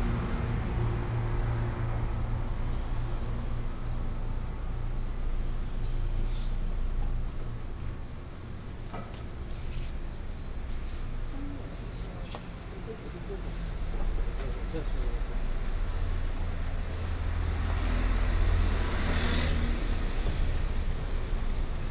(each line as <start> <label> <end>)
0.0 walking in the Street 21.9